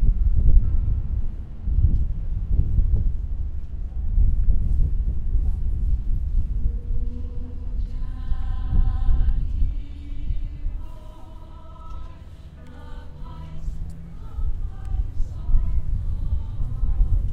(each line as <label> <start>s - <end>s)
traffic 0.0s - 17.3s
choir launched into a sombre and touching rendition 6.4s - 17.3s
background music 6.5s - 17.3s
people 6.6s - 17.3s